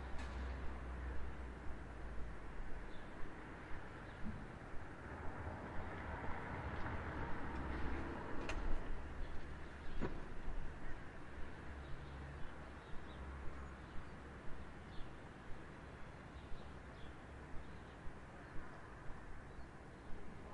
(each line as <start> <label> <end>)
0.0 birdsong 4.9
0.0 cars 20.5
7.5 birdsong 20.5